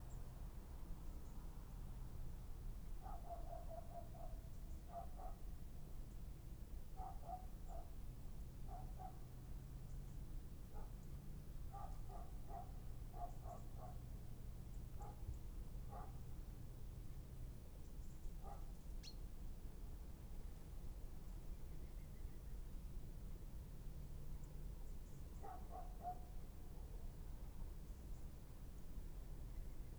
Low roar of the city 0:00.0 - 0:29.9
dogs 0:03.0 - 0:05.4
dogs 0:07.0 - 0:08.0
dogs 0:08.7 - 0:09.3
dogs 0:11.7 - 0:14.0
dogs 0:15.0 - 0:15.3
dogs 0:15.9 - 0:16.2
birds 0:18.0 - 0:19.2
dogs 0:18.4 - 0:18.7
dogs 0:25.4 - 0:26.4

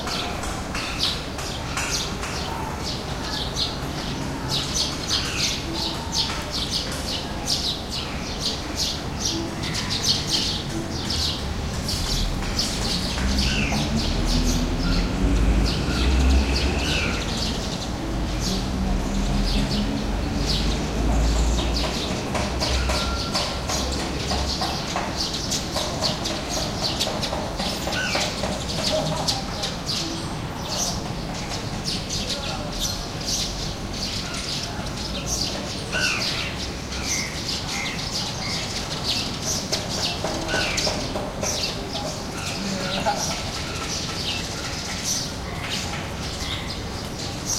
Birds sing 0:00.0 - 0:47.5
people walk down the street 0:00.0 - 0:47.5
traffic 0:00.0 - 0:47.5

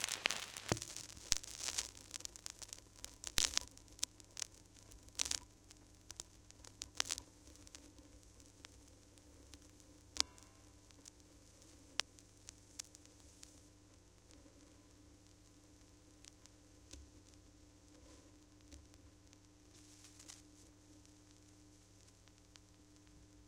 Vinyl Hiss, Cracks, and Pops 0:00.0 - 0:23.4

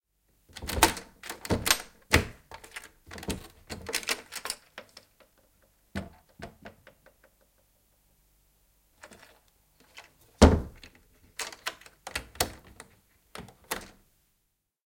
Window, open and close 0:00.5 - 0:05.3
Window, open and close 0:09.0 - 0:14.0

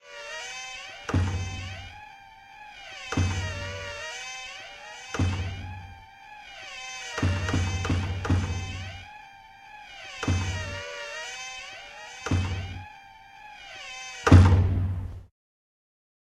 screeching door 0:00.0 - 0:15.1
same door closing 0:00.4 - 0:15.1

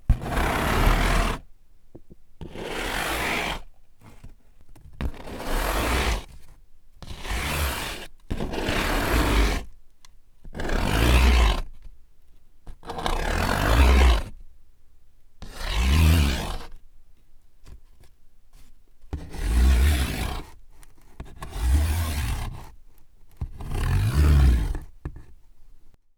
rubbing a cardboard box with my fingernails 0:00.1 - 0:01.5
rubbing a cardboard box with my fingernails 0:23.4 - 0:25.4

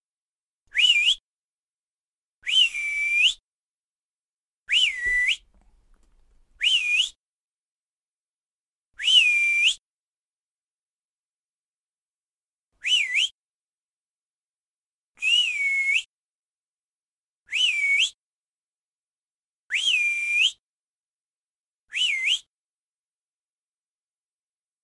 come here whistle 0:04.7 - 0:07.2

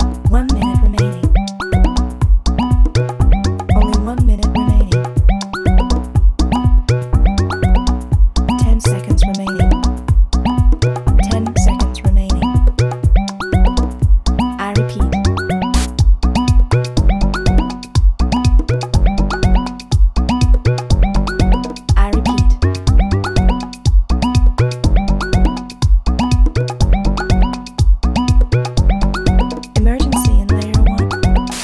vocal sample 0:00.0 - 0:01.8
percussion 0:00.0 - 0:31.6
vocal sample 0:03.6 - 0:05.2
vocal sample 0:08.5 - 0:10.0
vocal sample 0:11.1 - 0:13.4
vocal sample 0:14.5 - 0:15.9
vocal sample 0:21.9 - 0:23.2
vocal sample 0:29.8 - 0:31.6

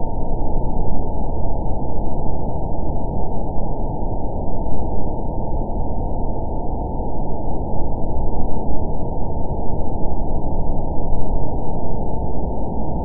space wind(long) 0:00.0 - 0:13.0

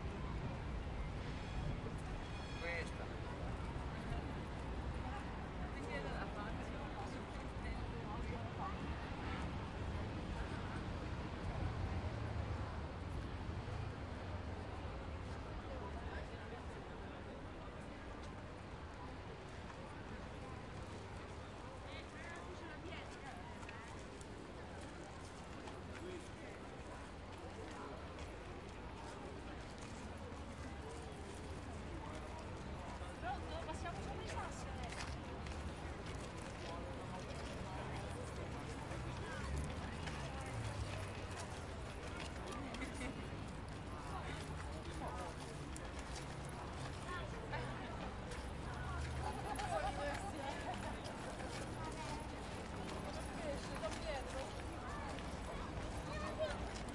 crowd 0:00.0 - 0:56.9
traffic 0:00.0 - 0:56.9
wind 0:00.0 - 0:56.9

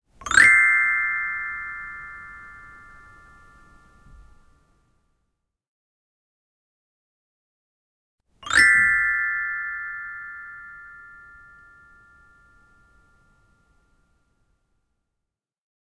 Upwards glissando played on a small xylophone 0:00.2 - 0:05.0
Upwards glissando played on a small xylophone 0:08.4 - 0:14.3

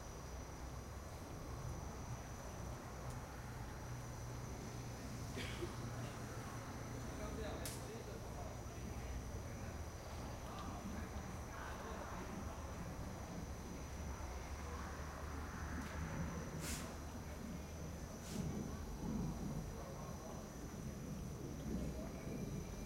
insects 0:00.0 - 0:22.8

